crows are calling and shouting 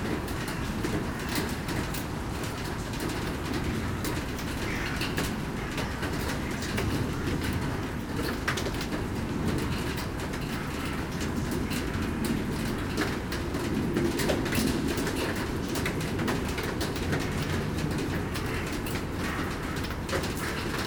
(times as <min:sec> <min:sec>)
0:04.5 0:07.5, 0:17.2 0:20.8